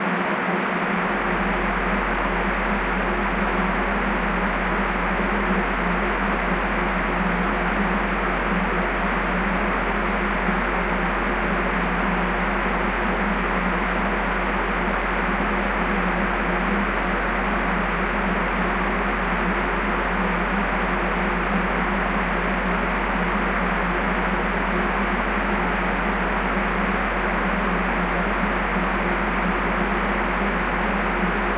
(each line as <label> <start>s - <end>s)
white noise 0.0s - 31.5s